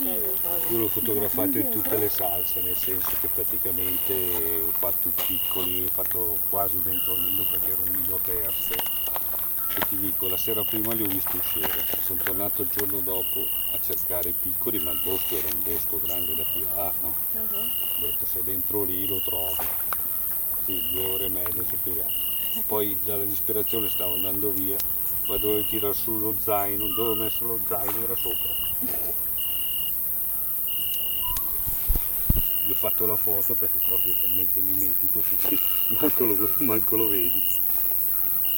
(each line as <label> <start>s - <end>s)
racconti dei partecipanti 0.0s - 19.8s